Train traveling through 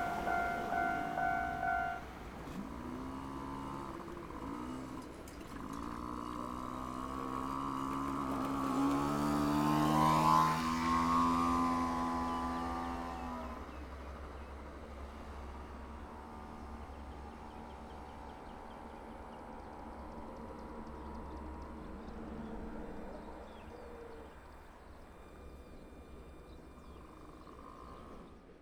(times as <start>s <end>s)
0.0s 3.5s